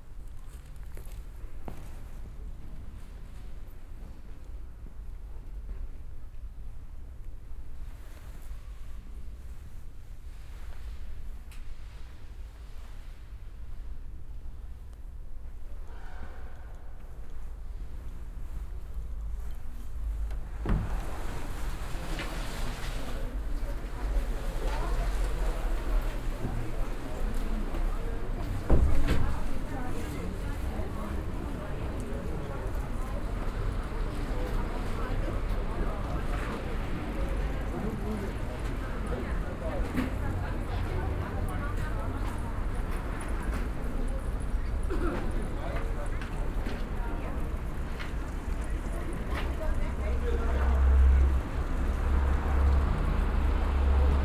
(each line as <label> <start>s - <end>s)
walking towards the main church doors 16.9s - 54.2s
people have gathered around the fountain 20.3s - 54.2s